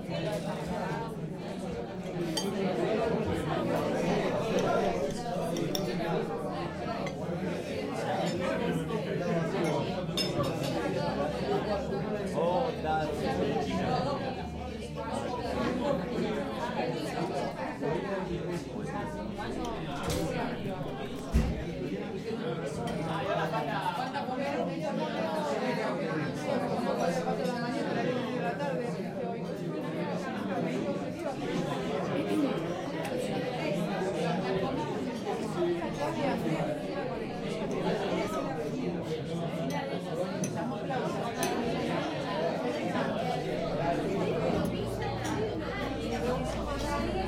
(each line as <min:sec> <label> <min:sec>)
0:00.0 murmur 0:47.2
0:40.5 peopleeating 0:47.2